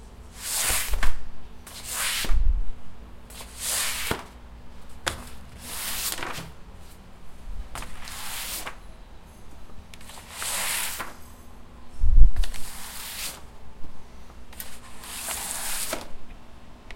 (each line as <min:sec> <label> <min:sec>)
0:03.3 Sliding Paper Folder 0:04.3
0:05.0 Sliding Paper Folder 0:07.0
0:07.7 Sliding Paper Folder 0:08.8
0:10.0 Sliding Paper Folder 0:11.2
0:12.4 Sliding Paper Folder 0:13.5
0:14.6 Sliding Paper Folder 0:16.1